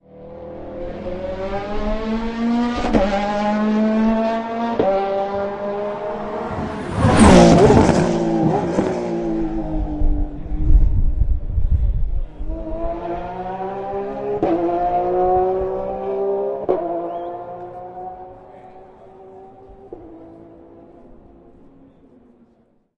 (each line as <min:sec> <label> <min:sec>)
0:06.1 high speed car braking hard at a chicane 0:09.3